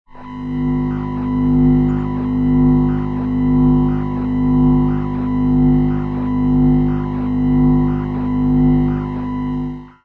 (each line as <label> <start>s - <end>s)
Processed ground loop 0.2s - 10.0s